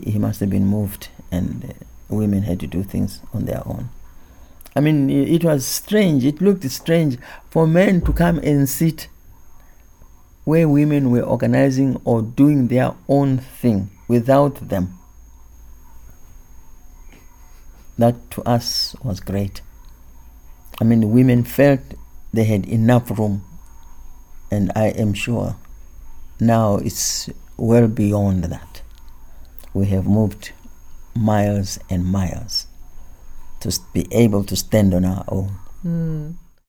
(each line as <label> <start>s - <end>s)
Mavis tells one story 35.9s - 36.4s